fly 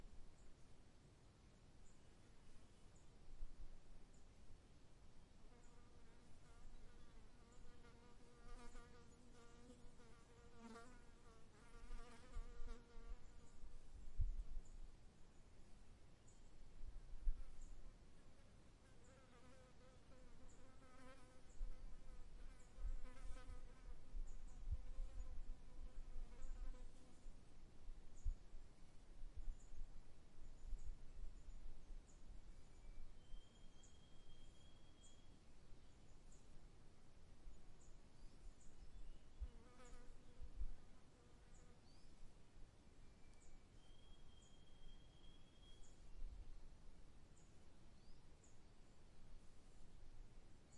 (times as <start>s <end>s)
5.5s 13.6s, 18.9s 27.3s, 39.4s 42.1s